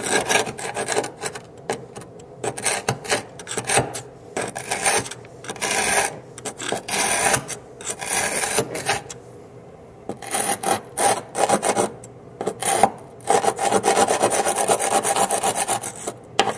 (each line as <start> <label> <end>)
2.4 metal scraper on grout and travertine stone 9.2
10.1 metal scraper on grout and travertine stone 16.5